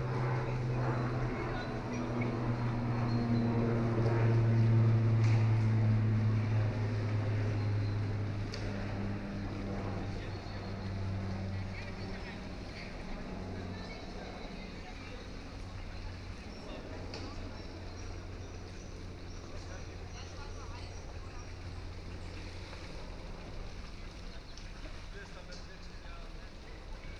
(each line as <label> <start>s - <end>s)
Small (but loud) light aircraft 0.0s - 27.1s
pedal boats 0.0s - 27.1s
rowing boats 0.0s - 27.1s
paddlers 3.8s - 27.1s